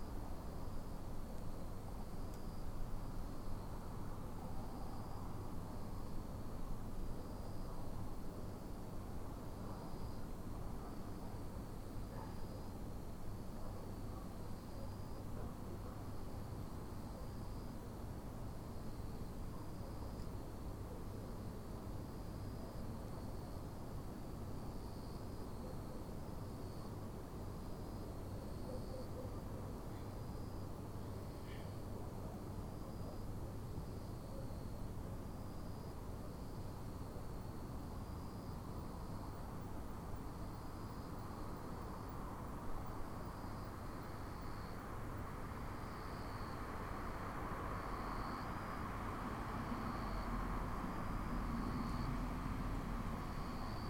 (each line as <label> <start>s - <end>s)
Cicadas (jr something similar) singing 16.1s - 53.8s
distant cars passing by 44.8s - 53.8s